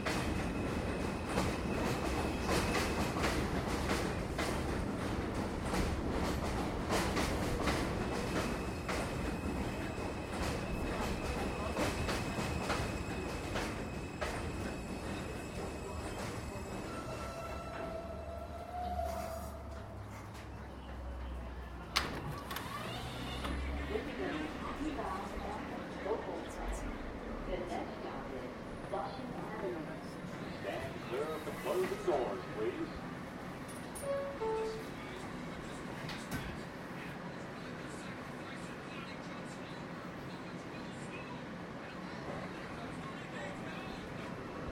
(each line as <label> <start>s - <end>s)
subway M train 0.0s - 44.7s
Flushing Avenue announcement 14.7s - 33.4s
Flushing Avenue announcement 34.0s - 44.7s